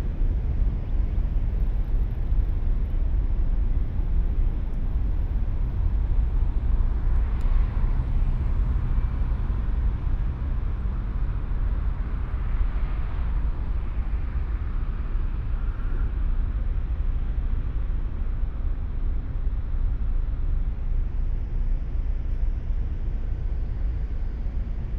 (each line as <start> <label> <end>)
0.0 Deep drone of diesel engines 24.9
0.0 city hum 24.9